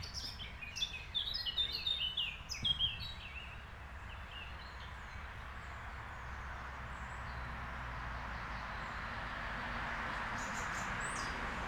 6.5s cars passing by 11.6s

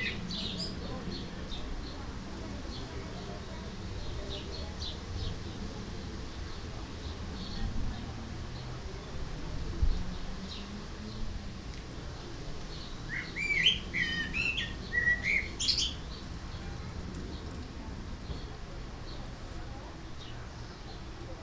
0.0s Birds 9.2s
0.0s neighbours chatting 21.4s
0.0s wind 21.4s
10.0s Birds 21.3s

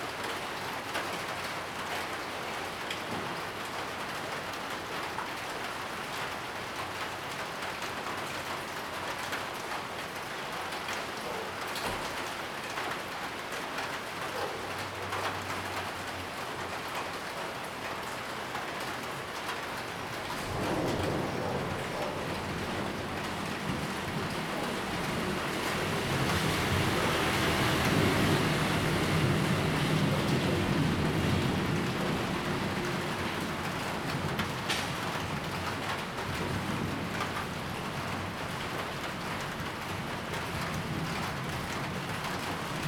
0.0s heavy rain 42.8s
19.5s thunderstorm 42.8s
20.0s Traffic Sound 35.8s

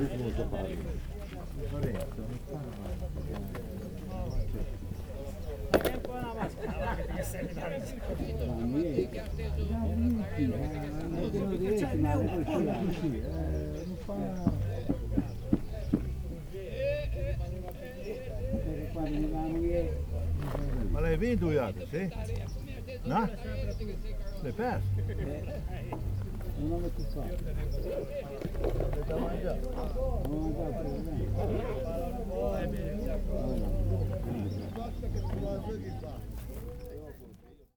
0.0s voices 37.7s

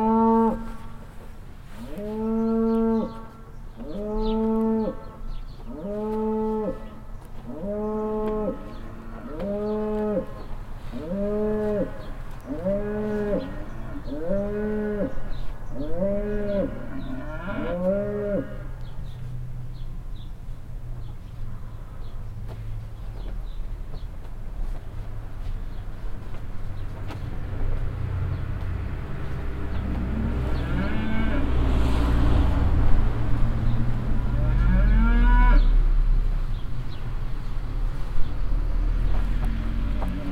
0.0s constantly loud mooing cow 1.0s
0.0s Cars passing by in the nearby street 40.3s
1.7s constantly loud mooing cow 19.0s
1.9s birds chirping 31.6s
29.5s constantly loud mooing cow 32.7s
34.2s constantly loud mooing cow 35.9s

